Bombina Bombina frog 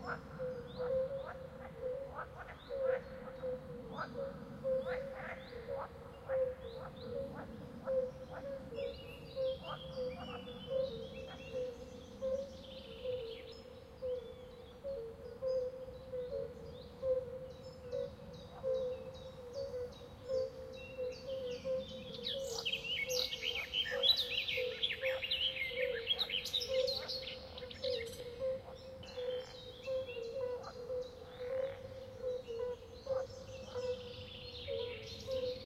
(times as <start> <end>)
26.7 34.1